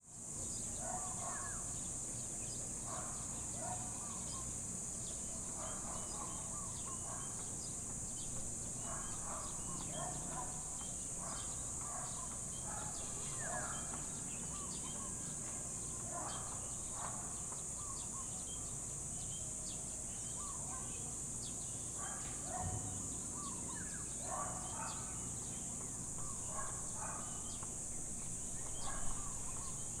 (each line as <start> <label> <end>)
0.0 predominant cicadas 30.0
0.4 birds chirping 30.0
0.5 dogs barking in the distance 19.3
20.1 dogs barking in the distance 30.0